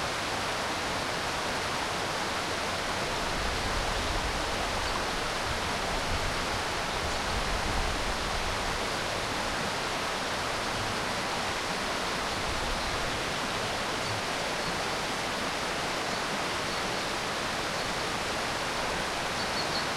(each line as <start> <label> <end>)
0.0 river 19.9